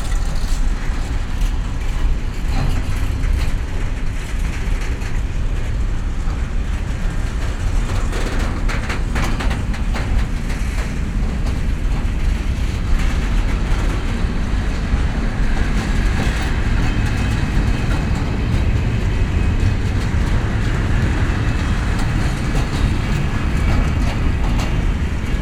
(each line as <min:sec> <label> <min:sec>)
0:00.0 freight train departs 0:25.4
0:19.6 nearby power station 0:25.4